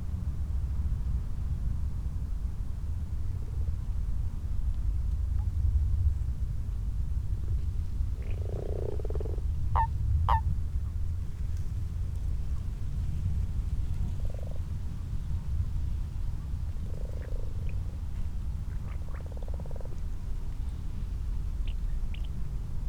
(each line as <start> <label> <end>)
8.0 common frogs 10.4
8.1 common toads 10.4
9.8 distant tawny owl 10.4
14.0 common toads 14.8
14.0 common frogs 14.9
16.4 common frogs 22.6
16.5 common toads 22.6